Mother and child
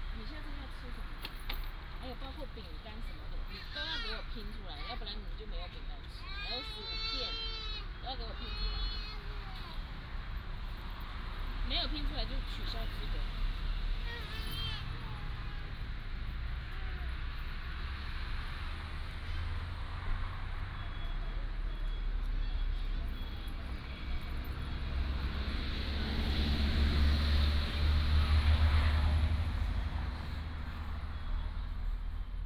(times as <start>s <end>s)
2.0s 10.2s, 11.7s 17.6s